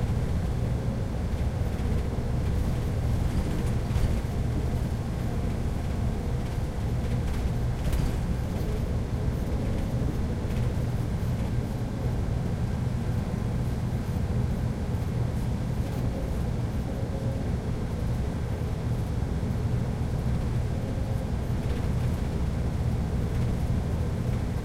Sound inside bus 0:00.0 - 0:24.6

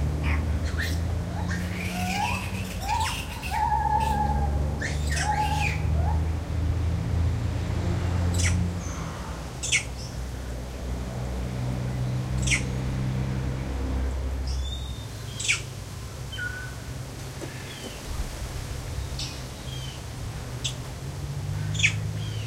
birds in the background 0:00.0 - 0:22.4
traffic 0:00.0 - 0:22.4
wind 0:00.0 - 0:22.4
movement from Long-tailed Macaques 0:00.2 - 0:06.2
single Lar Gibbon calling 0:00.2 - 0:06.2
single Lar Gibbon calling 0:12.4 - 0:12.7
single Lar Gibbon calling 0:14.6 - 0:15.7
single Lar Gibbon calling 0:21.7 - 0:22.0

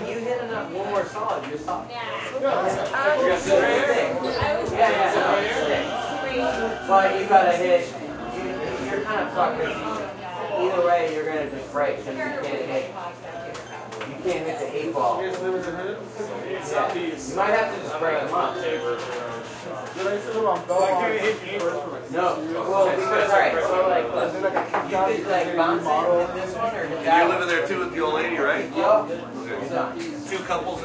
people 0:00.0 - 0:30.8

